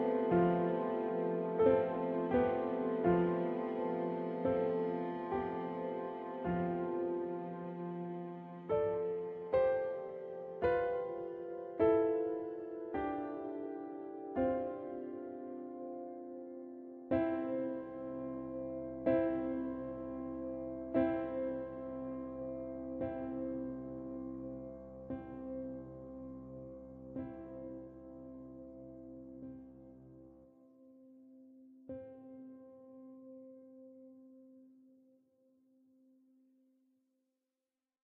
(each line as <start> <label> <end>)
0.0 piano 35.5